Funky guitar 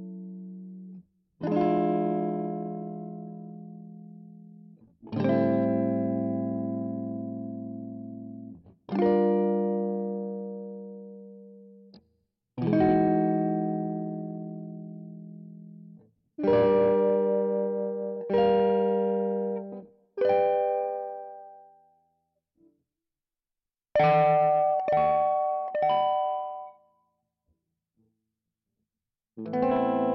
1.4 4.2, 4.8 11.5, 12.6 15.6, 16.4 21.6, 29.4 30.1

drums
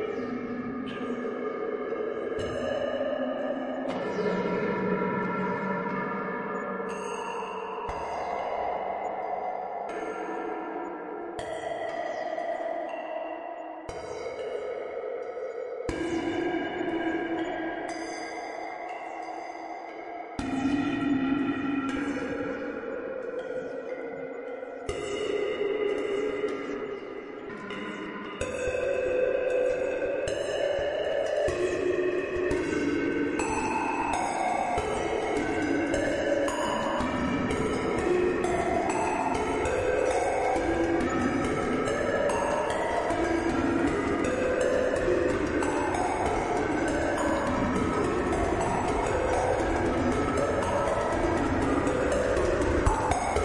37.4 53.4

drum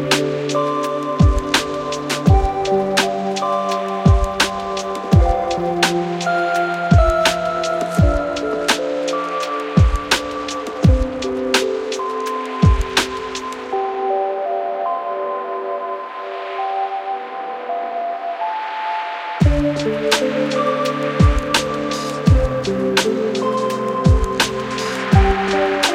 0.0 13.7, 19.4 25.9

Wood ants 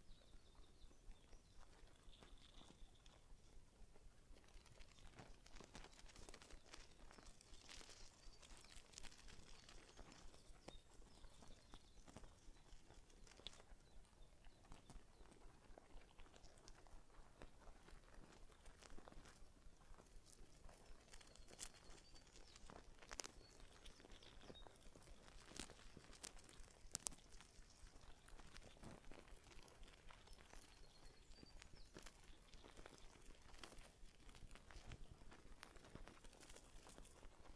4.5 14.0, 20.2 37.5

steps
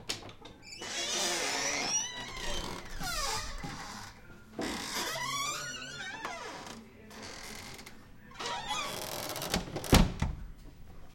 2.2 5.6

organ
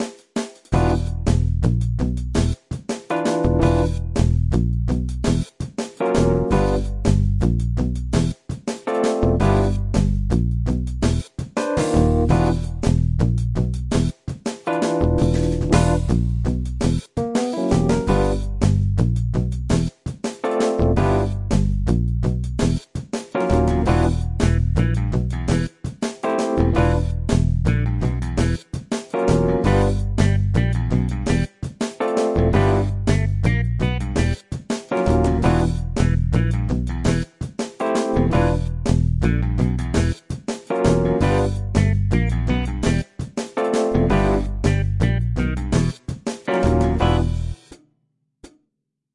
3.2 4.2, 11.0 13.0, 14.7 16.3, 16.9 18.7, 23.4 27.8, 28.4 34.4, 35.0 37.2, 37.8 40.2, 40.8 43.0

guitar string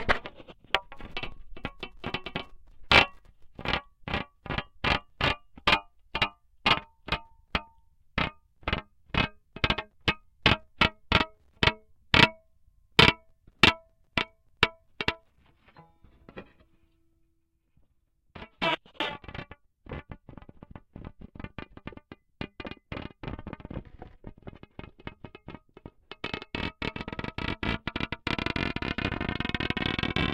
14.2 17.3

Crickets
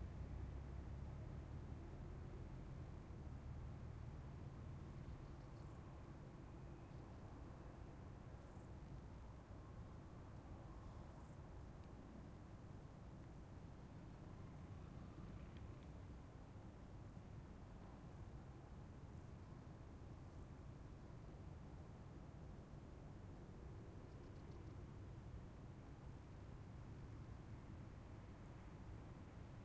5.0 11.8, 23.7 25.0

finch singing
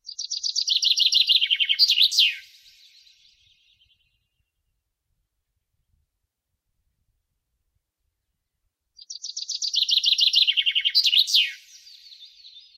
0.0 4.2, 9.0 12.7

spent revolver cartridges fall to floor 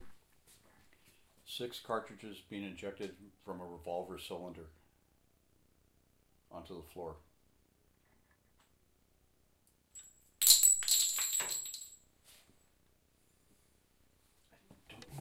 9.9 12.1

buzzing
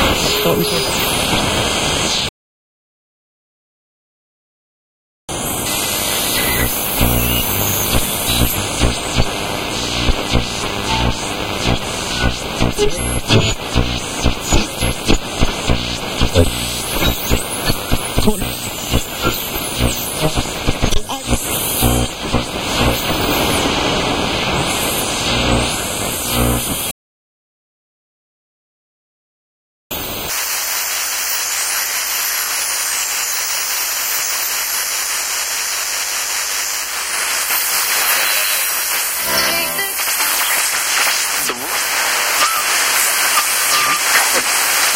5.6 23.7, 24.6 26.9, 37.4 44.9

